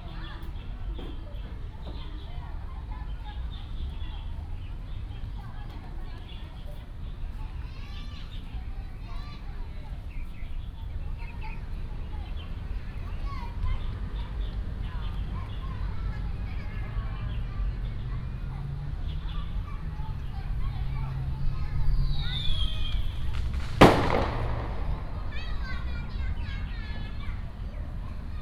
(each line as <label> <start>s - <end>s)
Firecrackers sound 22.4s - 27.5s